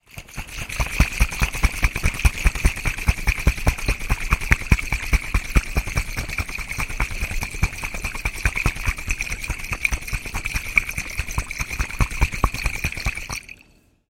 Shaking of glass water bottle 0.0 - 13.9

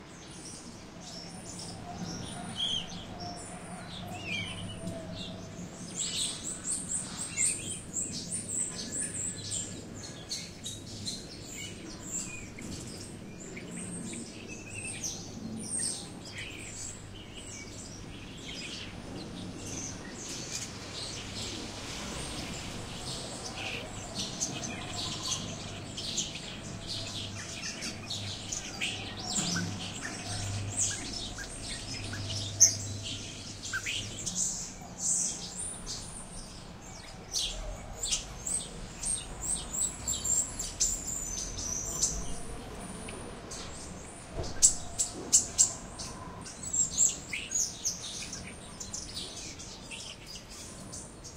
Birds Chirping on a Tree 0.0 - 51.3

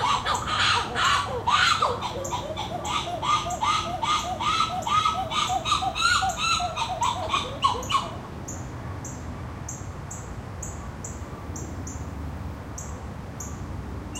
White-eared Titi Monkeys calling 0.0 - 8.2
cicadas 0.0 - 14.1
crickets 0.0 - 14.1

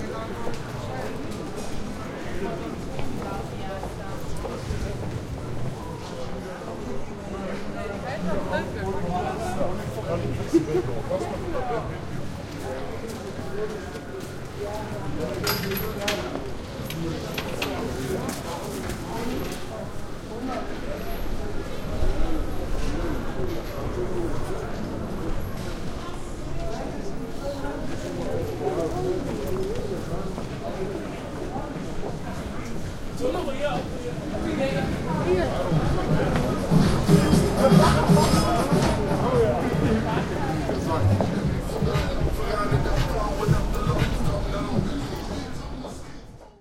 people talking 0.0 - 46.6
music 35.8 - 46.2

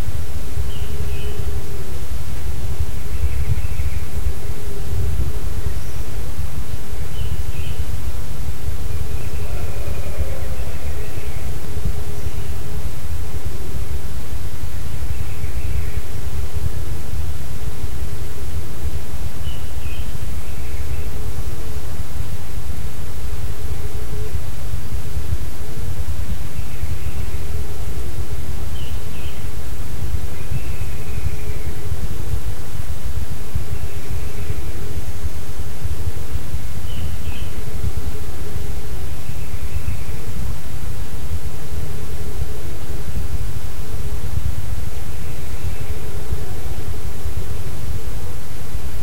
birds 0.0 - 49.0
wind 0.0 - 49.0

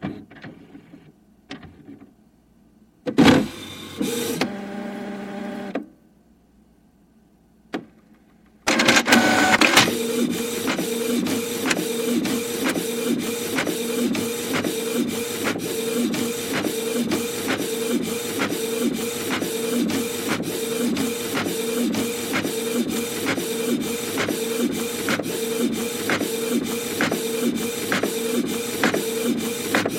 printing a school assignment 8.7 - 29.9

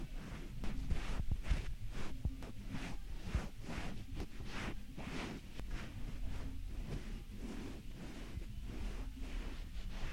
clothes 0.0 - 10.1

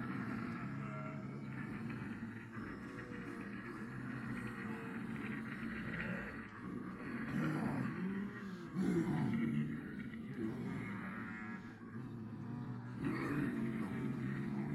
Multiple people pretending to be zombies 0.0 - 14.7

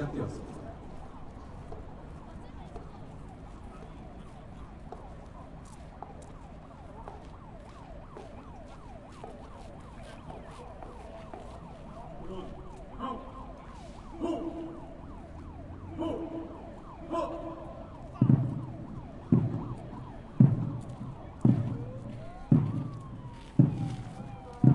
voice 12.1 - 13.5
voice 14.2 - 14.8
voice 15.9 - 18.5
music 18.2 - 19.6
music 20.4 - 24.7

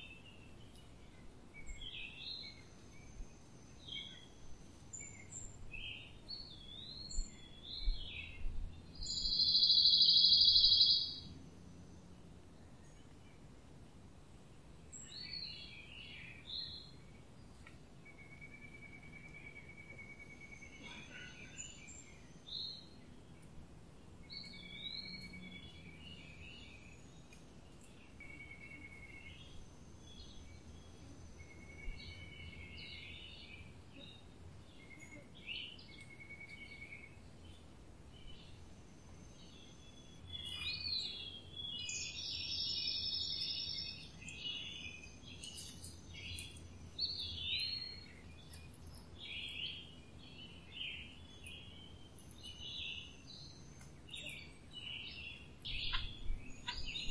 birdsong 0.0 - 57.1

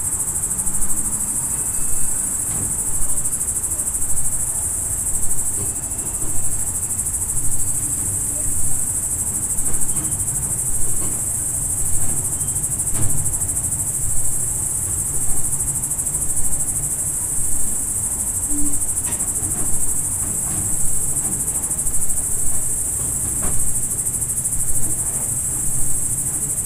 Loud grasshoppers or crickets 0.0 - 26.6
noises of cows moving around in the stable 18.5 - 26.2

